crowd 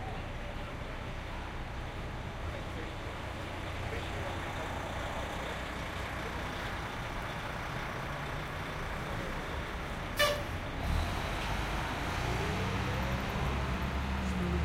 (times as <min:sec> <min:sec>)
0:00.0 0:06.7